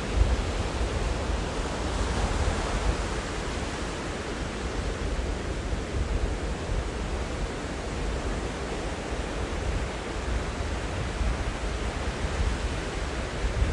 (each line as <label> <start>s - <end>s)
ocean waves breaking on a sandy beach 0.0s - 13.7s
wind noise 0.0s - 13.7s